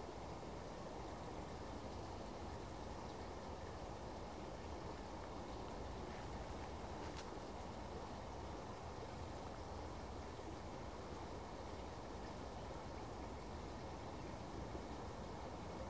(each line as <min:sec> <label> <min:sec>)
0:00.0 Wind 0:15.8